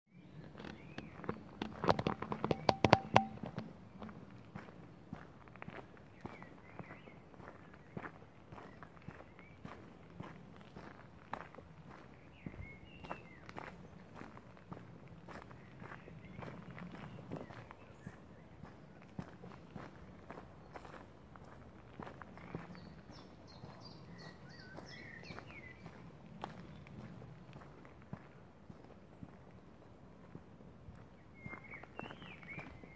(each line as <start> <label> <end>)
0.1 walking down a gravelroad 32.9
6.2 blackbirds singing 9.7
22.3 blackbirds singing 26.0
31.2 blackbirds singing 32.9